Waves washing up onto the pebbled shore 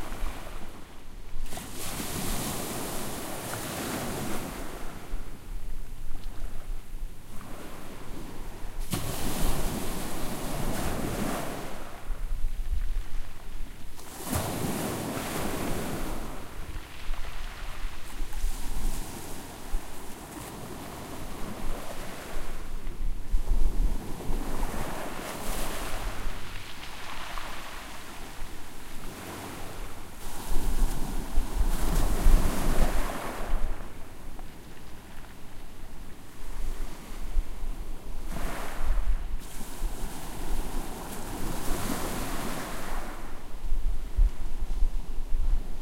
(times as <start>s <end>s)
24.6s 33.8s